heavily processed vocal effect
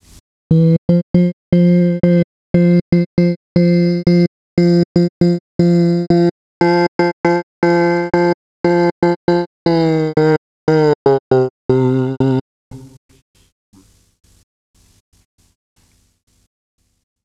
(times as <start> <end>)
0.5 13.0